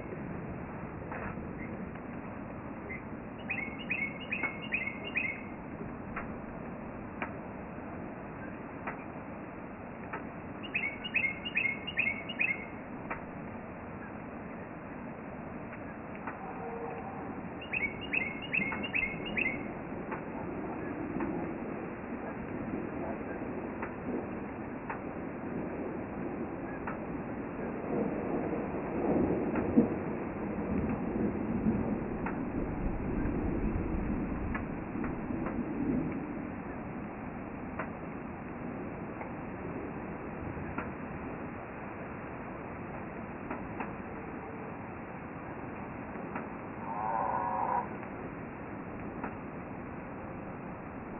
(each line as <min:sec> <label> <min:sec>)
0:00.0 distant storm approaches 0:51.1
0:18.7 rain on metal roof 0:46.8
0:47.8 rain on metal roof 0:51.1